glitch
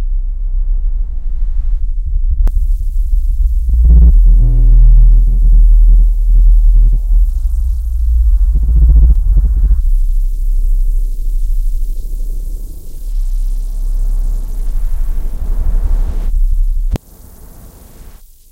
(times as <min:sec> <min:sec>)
0:03.4 0:09.8